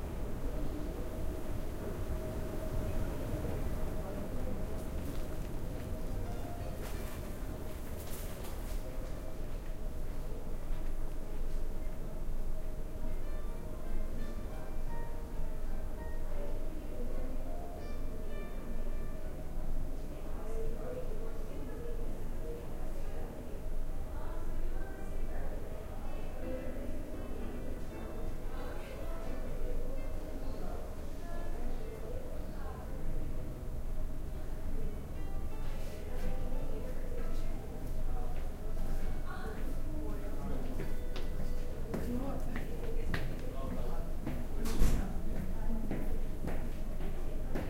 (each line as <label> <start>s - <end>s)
Walking in a boutique 0.0s - 47.6s
people talking 0.1s - 7.3s
Music 5.8s - 8.2s
Music 9.5s - 43.5s
people talking 12.9s - 33.6s
people talking 34.3s - 47.6s